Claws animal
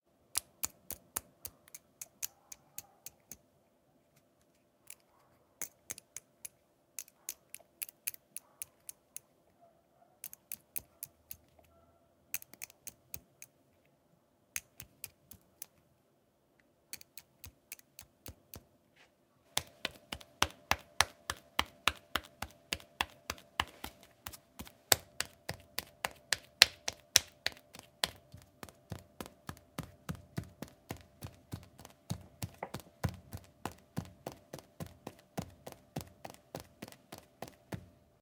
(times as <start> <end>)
0.9 3.4